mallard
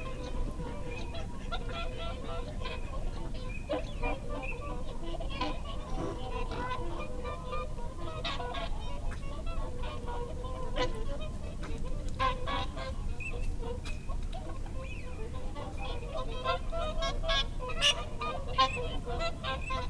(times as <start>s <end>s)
0.1s 9.0s